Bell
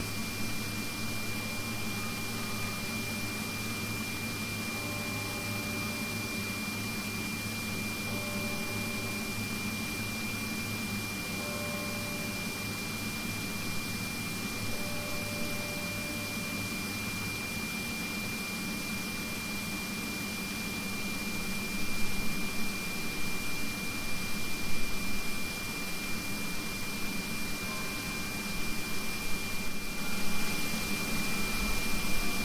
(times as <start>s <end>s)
4.5s 6.6s, 8.0s 13.6s, 14.4s 17.0s, 27.6s 28.6s